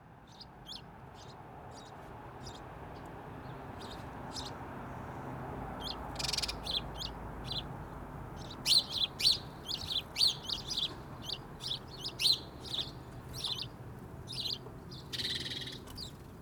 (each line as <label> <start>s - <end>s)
House Sparrows 0.7s - 16.4s